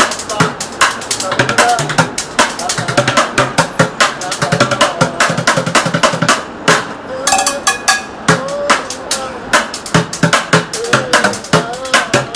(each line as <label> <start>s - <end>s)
Pots and Pans Drummer 0.0s - 12.3s